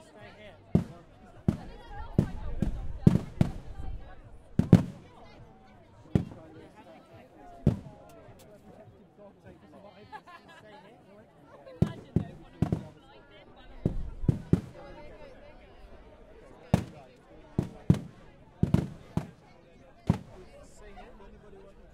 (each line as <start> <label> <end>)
0.0 music 8.0
0.8 fireworks 3.7
4.6 fireworks 5.0